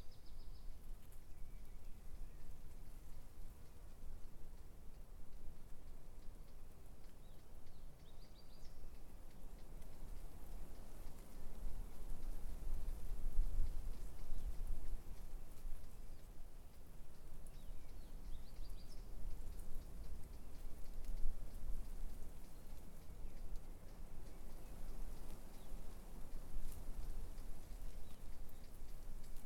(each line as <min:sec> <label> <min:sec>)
0:00.0 birds 0:29.4